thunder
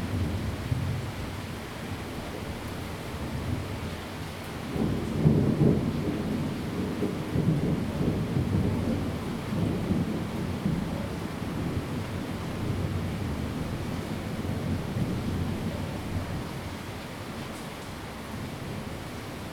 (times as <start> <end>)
4.7 13.5